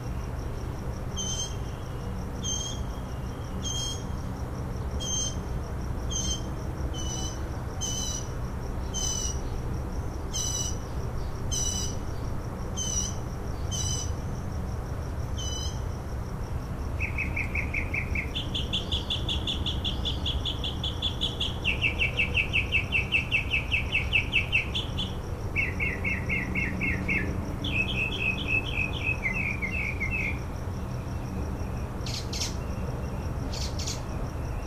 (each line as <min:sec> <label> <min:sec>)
0:01.2 Mockingbird song 0:04.1
0:06.1 Mockingbird song 0:09.6
0:10.3 Mockingbird song 0:12.0
0:12.8 Mockingbird song 0:14.1
0:17.0 Mockingbird song 0:30.4
0:31.6 Mockingbird song 0:34.6